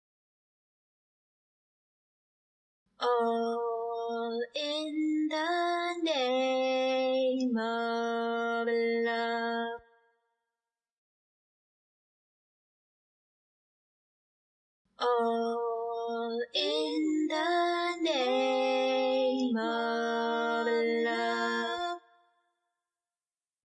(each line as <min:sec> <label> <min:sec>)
0:03.0 female singing 0:09.8
0:15.0 female singing 0:22.1